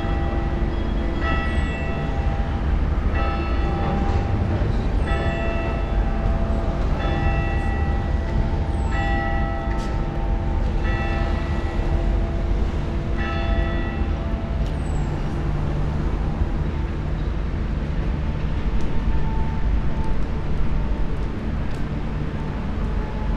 funeral bells 0:00.0 - 0:15.8

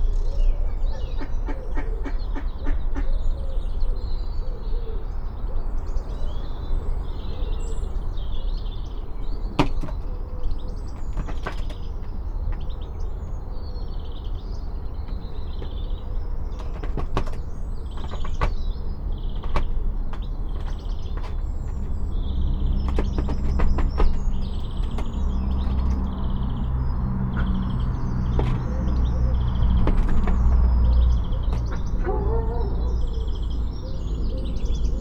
Airedale two houses away barks 0:05.0 - 0:35.0
cars 0:05.7 - 0:35.0
planes 0:06.6 - 0:33.6

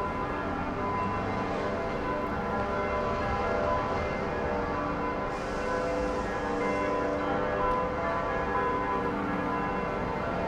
church bells 0:00.0 - 0:10.4

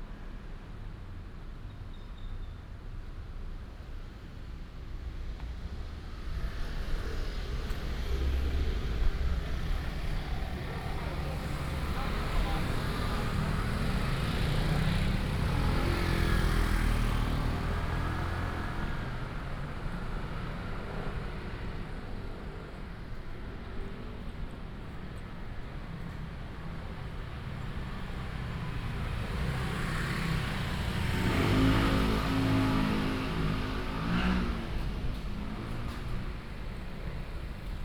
Walking in the old community alley 0:00.0 - 0:37.8
traffic sound 0:02.6 - 0:37.8

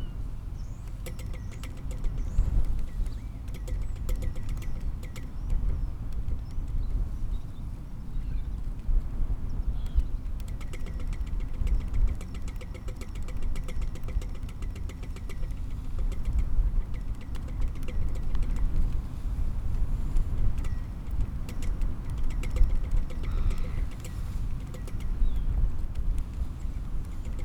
blustery wind 0:00.0 - 0:27.4
Pinging flagpole 0:00.9 - 0:05.4
Pinging flagpole 0:10.3 - 0:27.4

